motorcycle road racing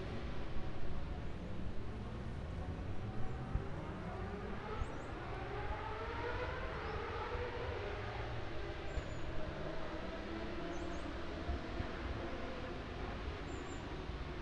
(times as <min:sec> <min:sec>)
0:02.7 0:13.3